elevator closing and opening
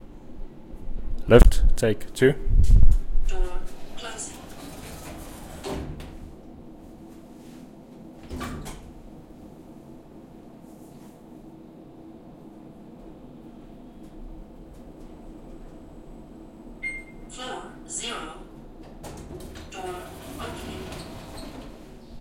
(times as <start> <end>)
3.4 9.3, 13.9 17.3, 18.5 22.2